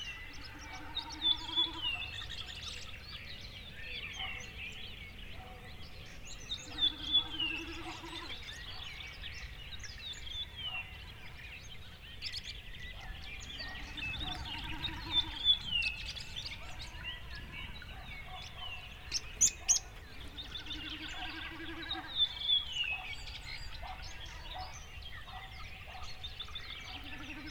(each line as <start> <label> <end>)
0.0 distant thrushes 27.5